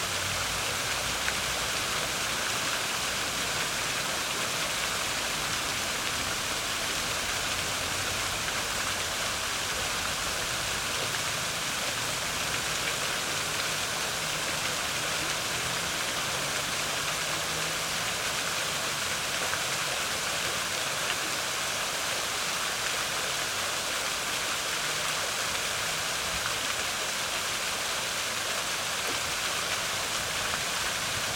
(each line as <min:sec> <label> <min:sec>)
0:00.0 Fountain 0:31.3